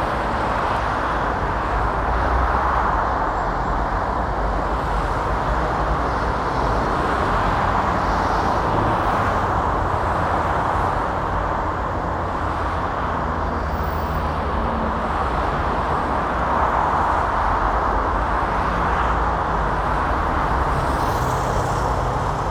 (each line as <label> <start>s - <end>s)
motorway traffic 0.0s - 22.5s